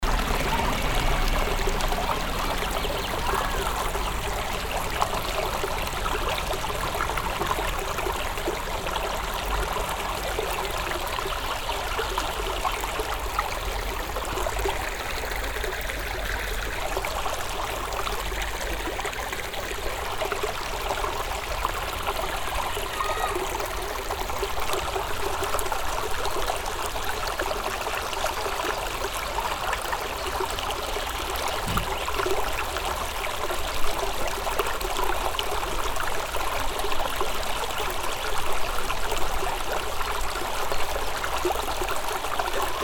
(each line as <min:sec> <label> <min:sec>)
0:00.0 small vivid stream running 0:42.8
0:00.0 passing train 0:03.2